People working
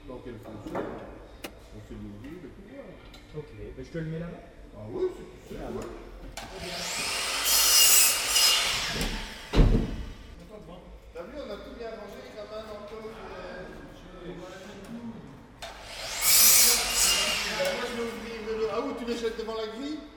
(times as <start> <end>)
5.4 10.4, 12.1 19.5